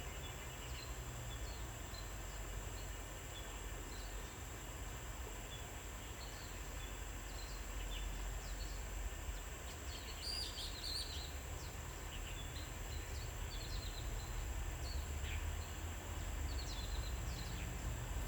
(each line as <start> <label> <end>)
0.1 Cicadas cry 18.2